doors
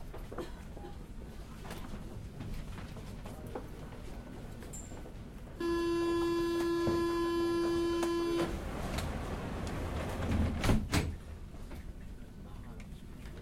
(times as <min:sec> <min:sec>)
0:05.6 0:11.2